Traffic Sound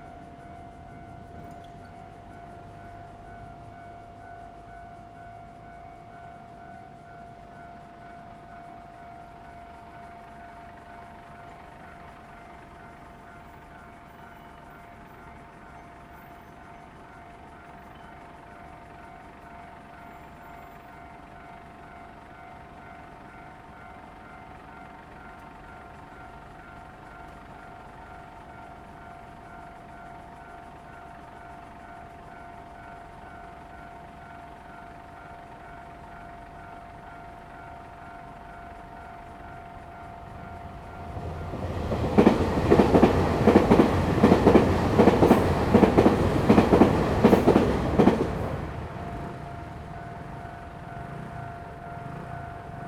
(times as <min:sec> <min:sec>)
0:38.5 0:52.8